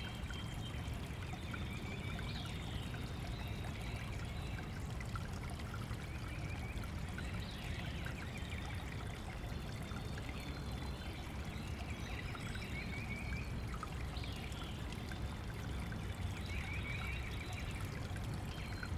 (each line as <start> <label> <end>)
0.0 stream 18.9